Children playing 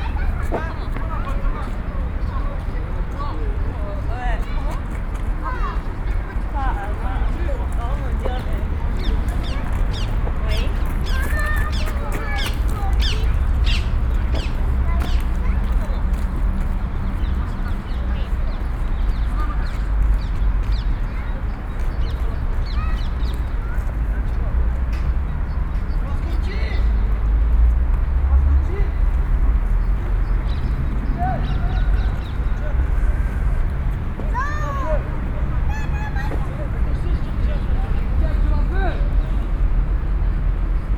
0.0 24.6, 29.8 37.2

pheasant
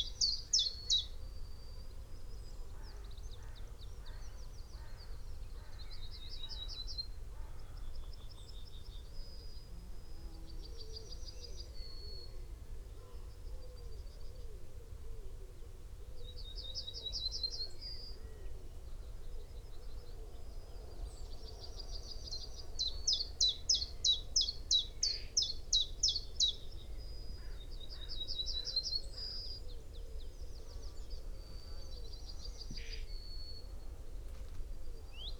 22.6 35.3

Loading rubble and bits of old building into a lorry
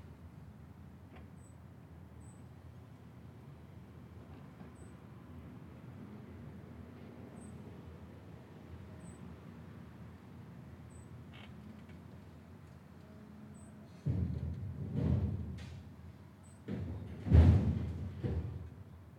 11.6 19.1

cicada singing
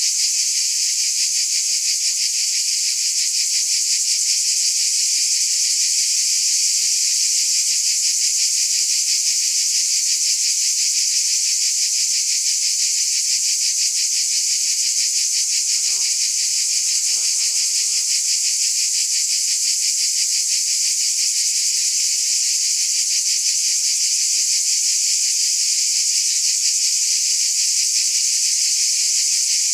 11.6 22.0

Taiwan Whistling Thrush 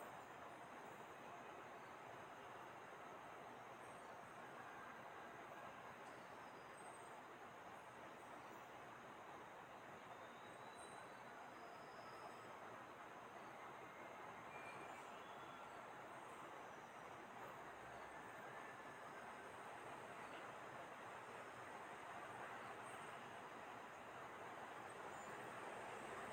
10.0 12.6, 13.8 15.8

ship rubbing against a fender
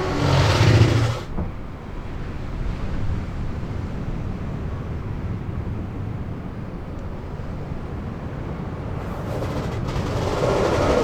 0.0 1.5, 8.8 11.0

